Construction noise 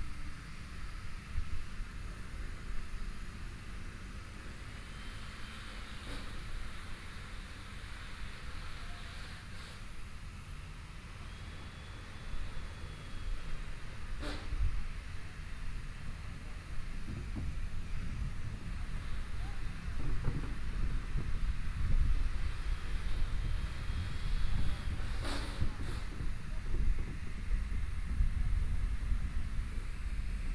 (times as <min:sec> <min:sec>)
0:15.2 0:27.6